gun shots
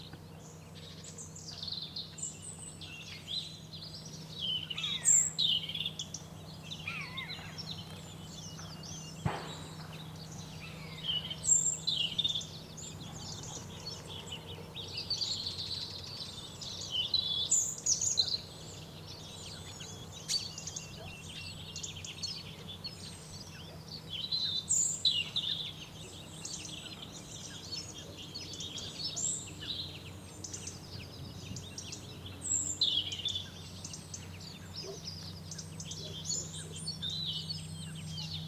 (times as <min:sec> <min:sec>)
0:09.2 0:10.0